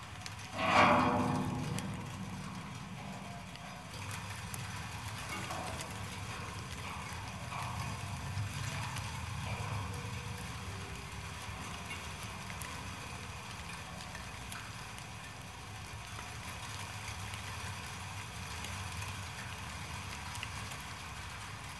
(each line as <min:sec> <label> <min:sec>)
0:00.0 Snow on a wire construction fence 0:21.6